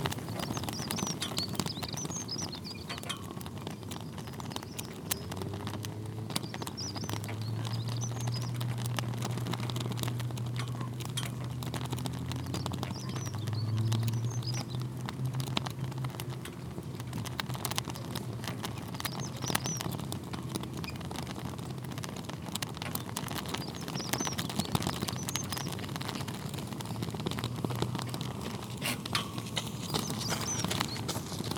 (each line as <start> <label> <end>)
0.0 two flags swaying into the wind 31.5